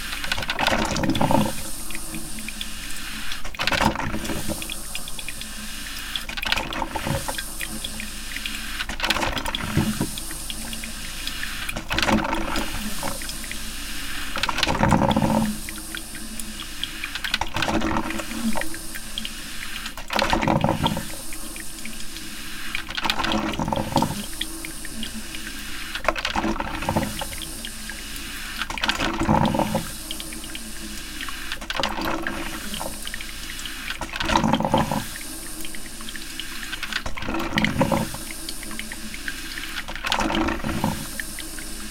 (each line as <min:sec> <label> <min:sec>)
0:00.0 regular coffee machine 0:41.9